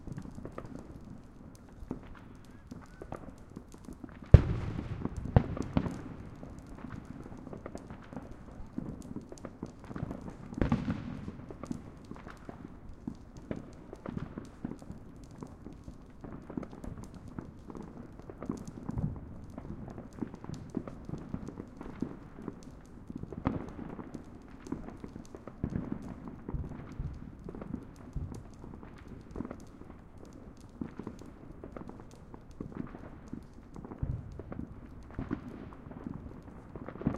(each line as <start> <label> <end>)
0.0 bonfire crackling 37.1
0.0 firecrackers 37.1
4.4 explosions 6.0